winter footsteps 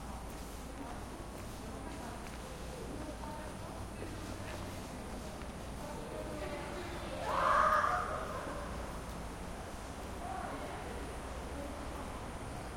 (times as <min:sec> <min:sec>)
0:00.0 0:06.0